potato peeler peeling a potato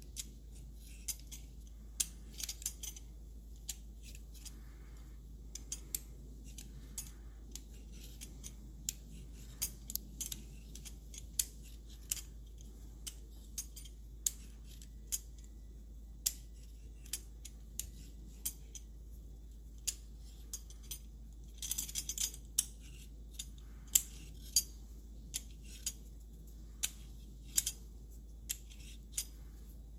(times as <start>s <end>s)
28.5s 29.2s